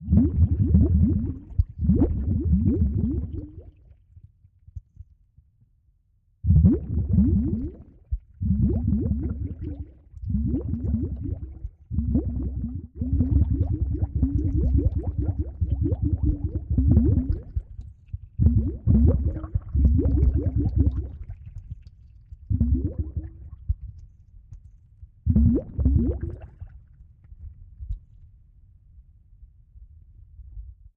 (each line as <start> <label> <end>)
0.0 Bubbles 4.0
6.5 Bubbles 23.9
25.3 Bubbles 27.0